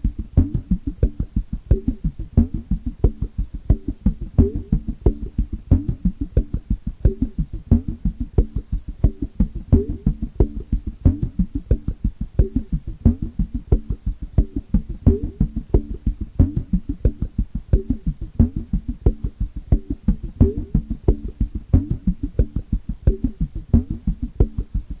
0.0s bass 25.0s

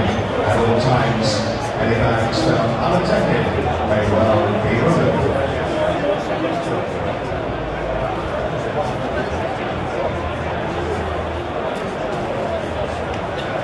0.0s tannoy announcements 6.0s
0.0s crowd noise 13.6s

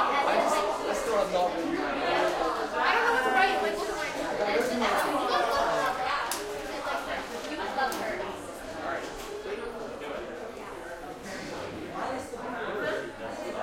0.0s crowd light active conversations 13.6s

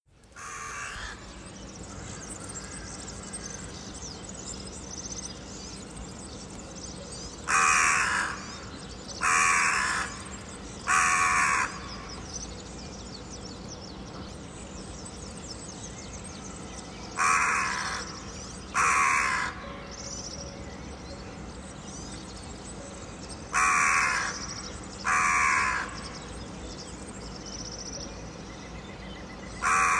0.0s early morning birds singing 29.9s
0.3s magpie at the end, quite far 29.9s
0.3s crow, very close to me 4.0s
7.1s crow, very close to me 12.4s
17.0s crow, very close to me 20.7s
22.9s crow, very close to me 26.3s
29.5s crow, very close to me 29.9s

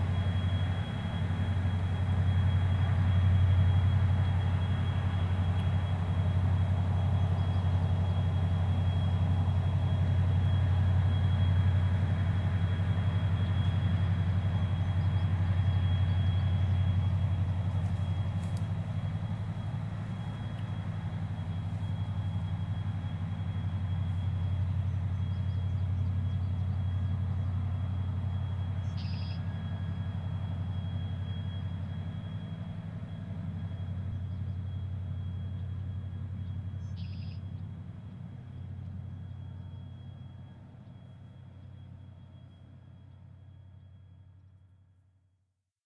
0.0s river 43.7s
0.0s thrumming of the giant diesel engines 45.0s
28.8s Red-Wing blackbird 29.5s
36.8s Red-Wing blackbird 37.6s

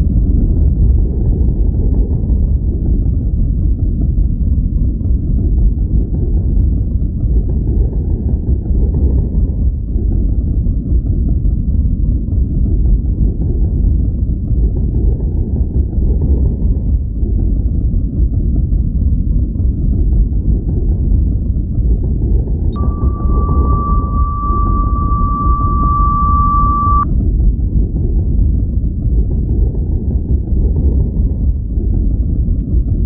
0.0s drone 10.9s
19.2s drone 21.4s
22.1s drone 27.1s

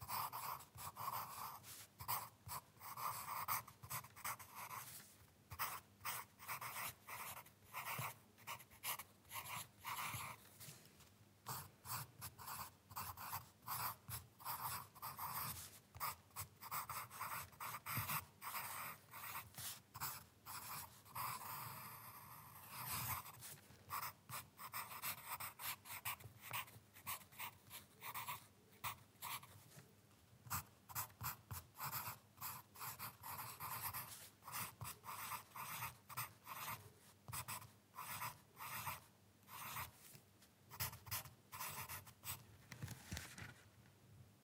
0.0s Writing on paper using a lead pencil 42.4s
42.6s moving the paper 43.6s

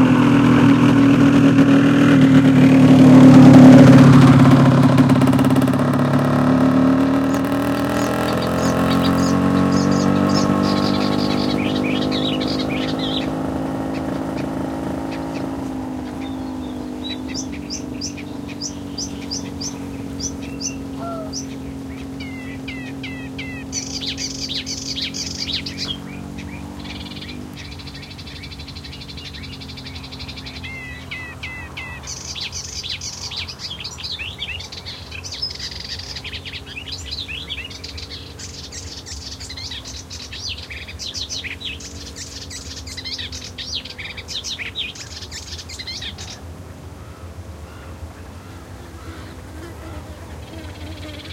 0.0s Black-winged Stilt 51.3s
0.0s Melodious Warbler 51.3s
0.0s passing bike 51.3s
20.3s Common Coot 24.2s
20.9s Mediterranean Gull 21.5s
48.9s insect buzzings 51.3s

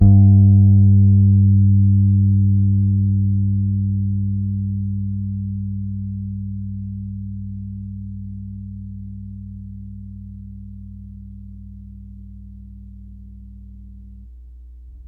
0.0s old Fender P-Bass, with old strings 15.0s

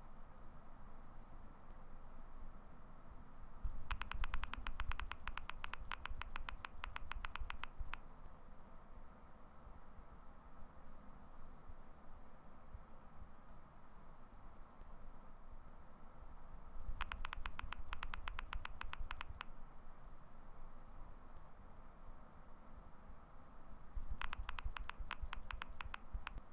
3.9s Texting 8.0s
16.9s Texting 19.5s
24.1s Texting 26.4s

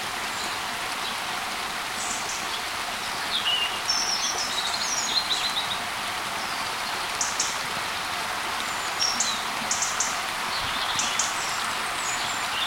0.0s stream 12.6s
1.9s birds 7.6s
8.6s birds 12.6s

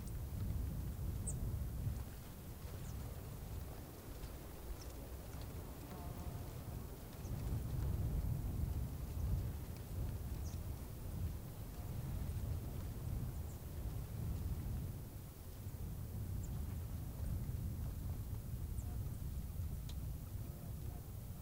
0.0s wind 21.4s
1.2s Birds 7.7s
9.2s Birds 11.0s

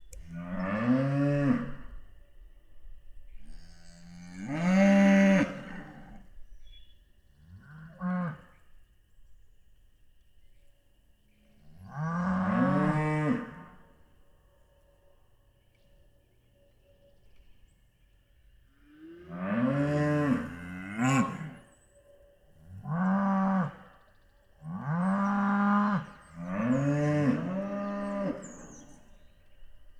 0.3s Restless Cattle Mooing 1.9s
3.4s Restless Cattle Mooing 6.2s
11.7s Restless Cattle Mooing 13.8s
19.0s Restless Cattle Mooing 21.6s
22.8s Restless Cattle Mooing 23.9s
23.8s birds 29.9s
24.7s Restless Cattle Mooing 29.0s

